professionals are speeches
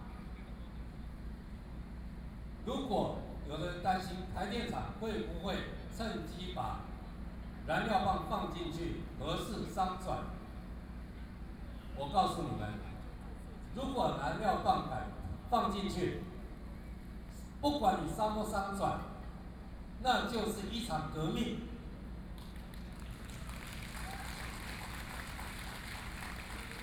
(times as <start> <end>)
2.7 10.5, 11.9 16.4, 17.3 19.2, 20.0 21.8